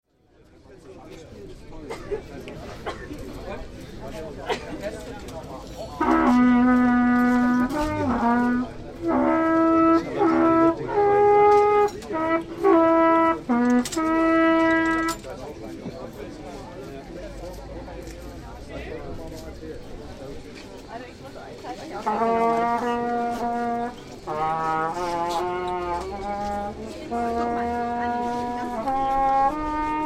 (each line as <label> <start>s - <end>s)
old trumpet 5.6s - 15.6s
old trumpet 21.6s - 30.0s